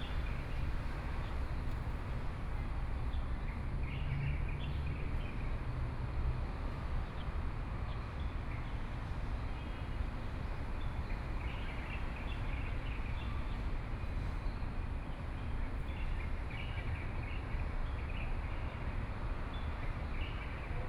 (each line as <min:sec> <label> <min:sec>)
0:00.0 Traffic Sound 0:15.6